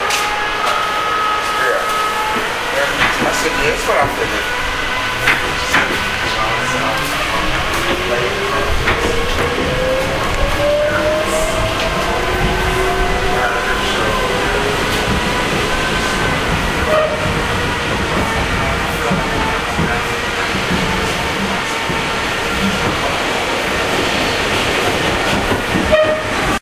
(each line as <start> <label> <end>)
0.0 Subway train accelerating up to speed 26.6